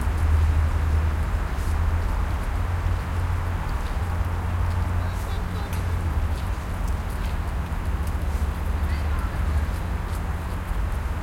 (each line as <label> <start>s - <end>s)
heavy traffic 0.0s - 11.2s